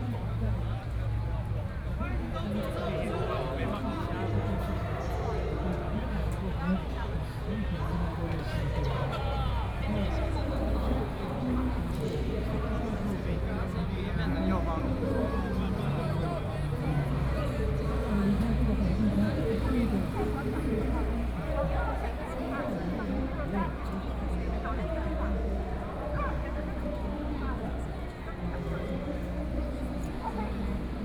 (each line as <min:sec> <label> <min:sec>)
0:00.0 speech 0:31.0